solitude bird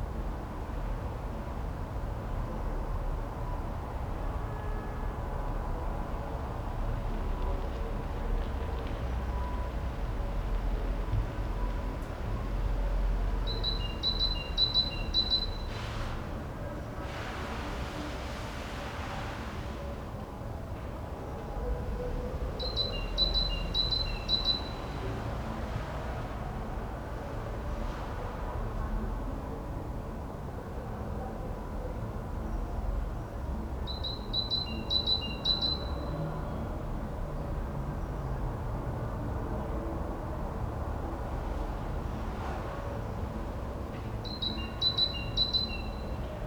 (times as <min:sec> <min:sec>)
0:44.2 0:46.1